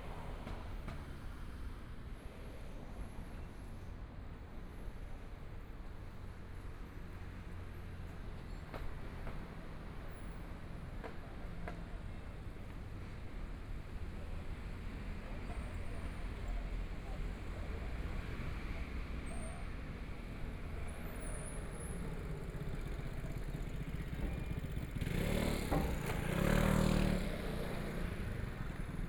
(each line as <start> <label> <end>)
0.0 Walking in the streets 29.0
6.0 Traffic Sound 29.0
21.2 Motorcycle sound 29.0